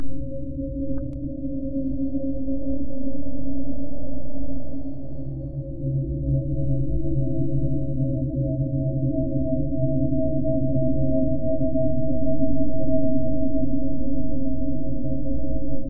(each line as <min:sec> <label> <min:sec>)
0:00.0 drone 0:10.4